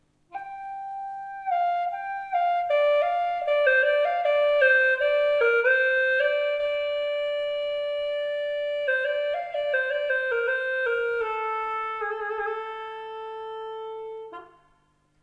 Tradidtional chinese gourd flute Hulusi 0.2 - 15.2

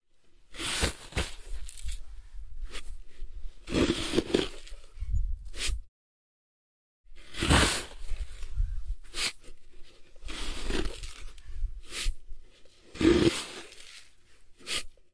sand 0.3 - 5.9
sand 7.1 - 15.1

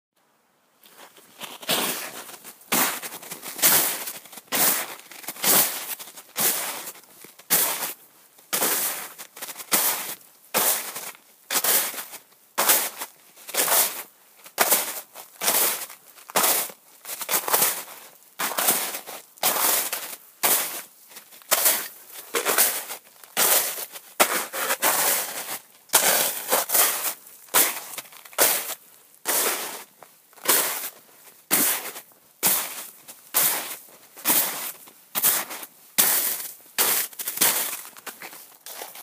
footsteps in snow 0.8 - 39.0

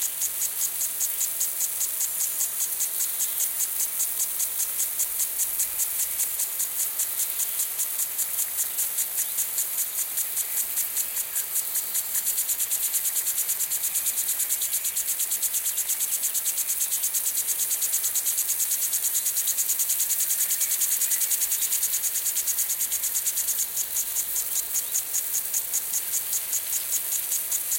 sprinkler 0.0 - 27.7

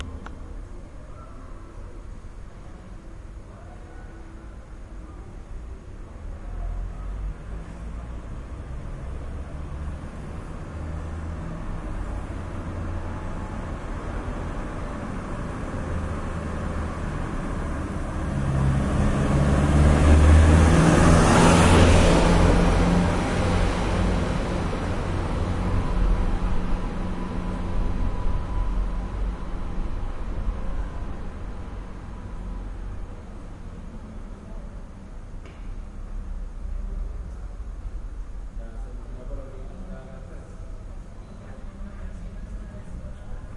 loud truck passes by 6.4 - 34.3

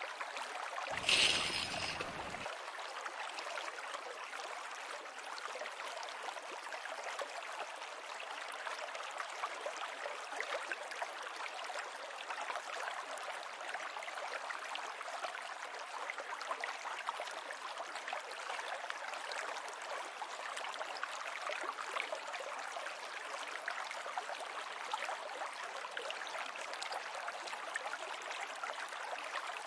river 0.0 - 29.6
Casting a fishing line 0.9 - 2.5

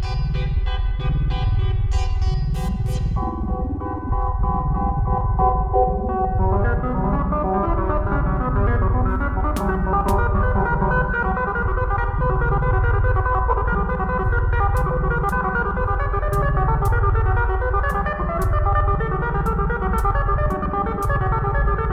analogue synths 0.0 - 21.9
drone 0.0 - 21.9
beat 9.1 - 21.9

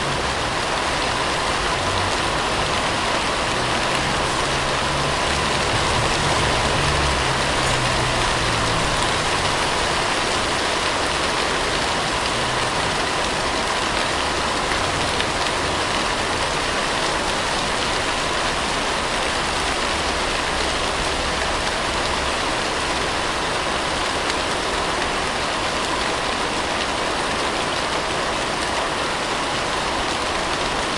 Rainwater is falling on the leaves of a tree 0.0 - 30.9

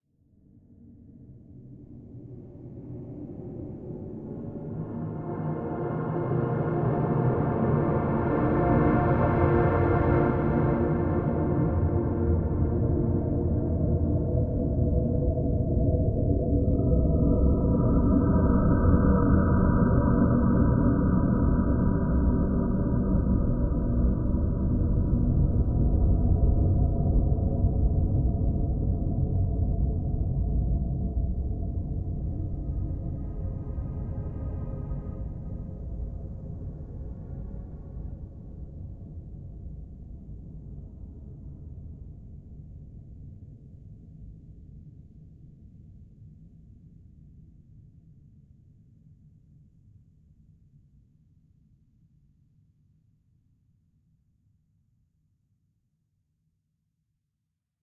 drone 1.8 - 38.1

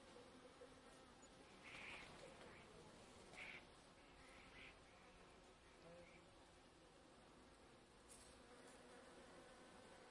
Bees in a bush 0.0 - 10.1
other insects 1.2 - 6.4
bumble bee fly-past 8.0 - 10.1

